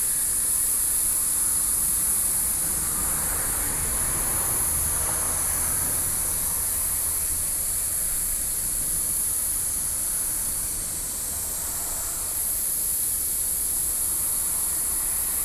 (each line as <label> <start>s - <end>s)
Insects sounds 0.0s - 15.4s
Traffic Sound 1.6s - 13.1s